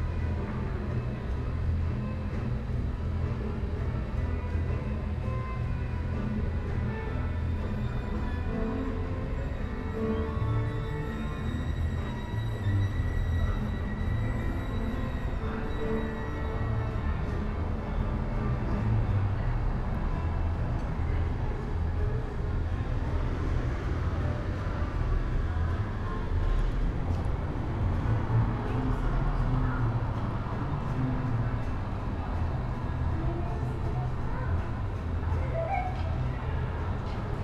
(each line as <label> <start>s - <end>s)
street musicians 0.0s - 37.4s